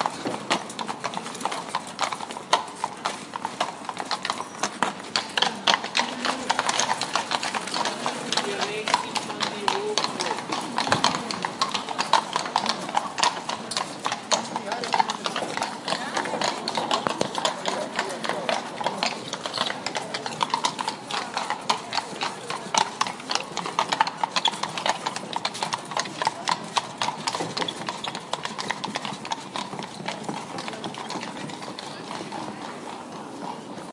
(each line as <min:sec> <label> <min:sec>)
0:00.0 Horse and carriage over cobblestone 0:33.9
0:00.0 street noise 0:33.9